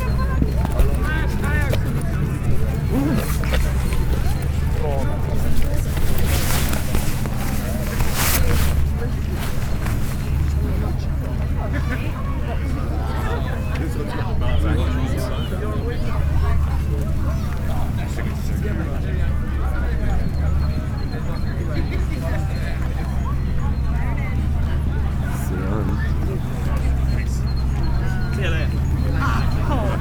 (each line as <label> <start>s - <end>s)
crowd 0.0s - 30.0s